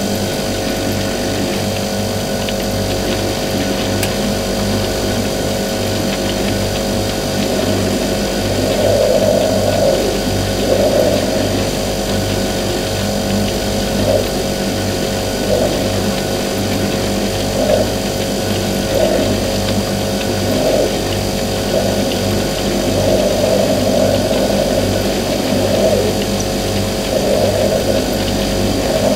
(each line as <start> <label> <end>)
0.0 fridge compressor hum noises 29.1